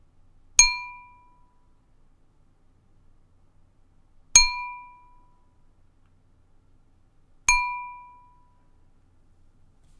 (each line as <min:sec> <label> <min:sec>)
0:00.6 glass ding 0:01.6
0:04.4 glass ding 0:05.4
0:07.5 glass ding 0:08.6